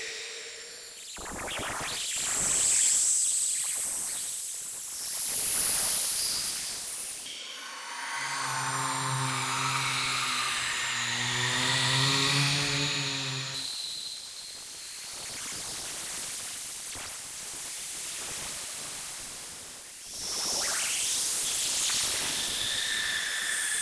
0.0s higher frequency screams & space noises 1.3s
0.0s space drone 1.4s
7.2s space drone 14.1s
7.3s higher frequency screams & space noises 14.2s
22.4s higher frequency screams & space noises 23.8s

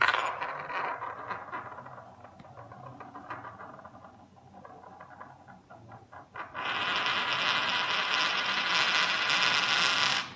0.0s coin is spinning 10.3s

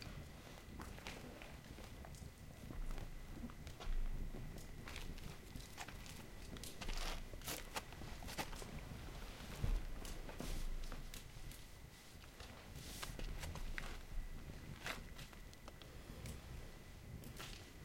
0.0s crickets 17.8s
0.0s people sleeping 17.8s
0.0s tending fire 17.8s
2.8s steps dirt 8.8s

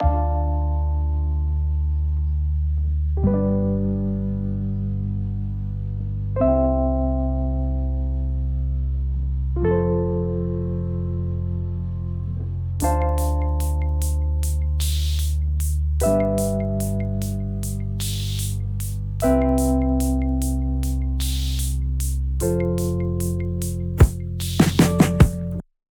12.8s synth 25.6s

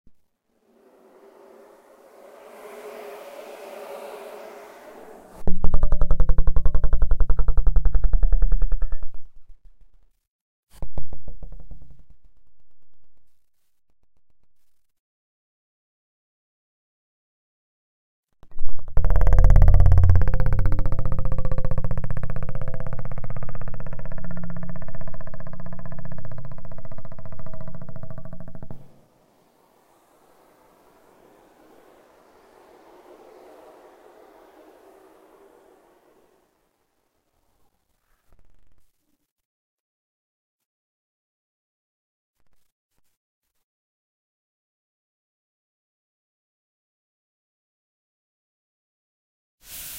5.3s bass 10.1s
10.8s bass 13.4s
18.4s bass 28.9s

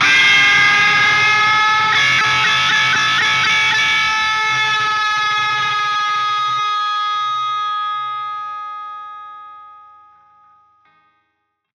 0.0s Real Guitar Fender Strato 10.8s

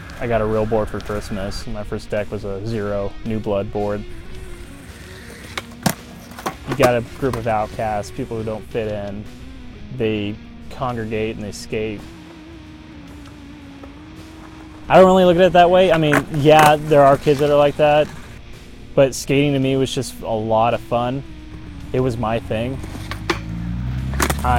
4.4s skateboarding 9.0s
13.2s skateboarding 18.4s
22.8s skateboarding 24.5s

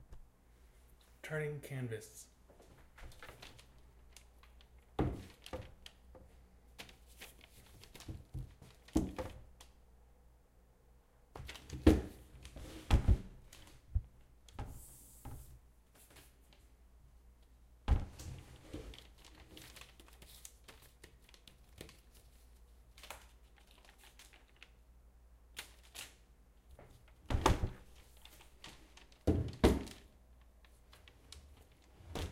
2.5s Shuffling a framed movie poster around 9.3s
11.4s Shuffling a framed movie poster around 13.9s
14.6s Shuffling a framed movie poster around 16.7s
18.1s Shuffling a framed movie poster around 24.8s
25.6s Shuffling a framed movie poster around 32.3s

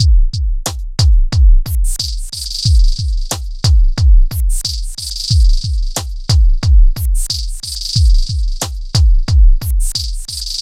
0.0s percussion rhythm 10.6s

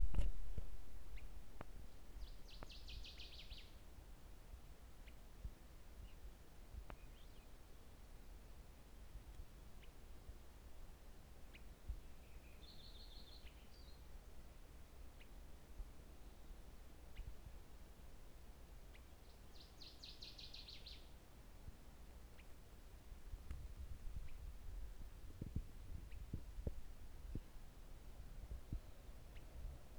0.0s Birdsong 3.8s
18.9s Birdsong 21.2s

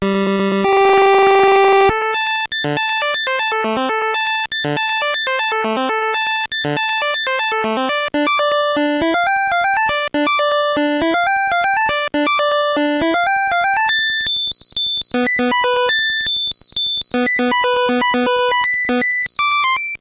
0.0s chiptunes 20.0s

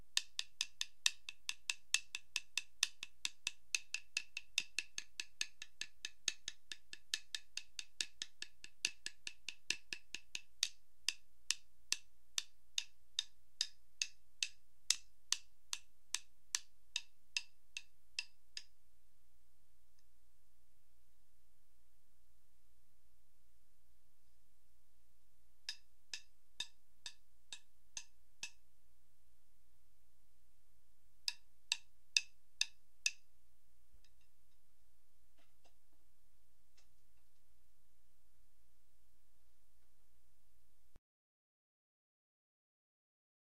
0.0s hits from Zildjian drum sticks 18.7s

